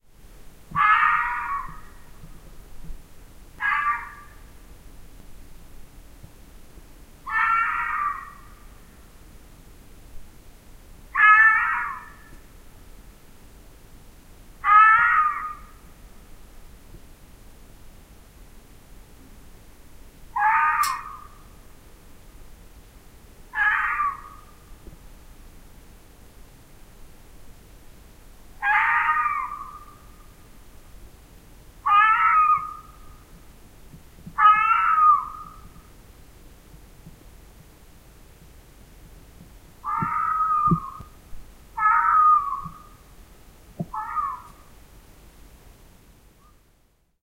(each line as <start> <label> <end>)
0.7 shrill, hoarse cry of a fox 2.0
3.6 shrill, hoarse cry of a fox 4.4
7.2 shrill, hoarse cry of a fox 8.6
11.1 shrill, hoarse cry of a fox 12.4
14.6 shrill, hoarse cry of a fox 15.8
20.3 shrill, hoarse cry of a fox 21.4
23.5 shrill, hoarse cry of a fox 24.6
28.6 shrill, hoarse cry of a fox 30.1
31.8 shrill, hoarse cry of a fox 33.1
34.4 shrill, hoarse cry of a fox 35.8
39.8 shrill, hoarse cry of a fox 41.2
41.8 shrill, hoarse cry of a fox 43.0
43.8 shrill, hoarse cry of a fox 44.7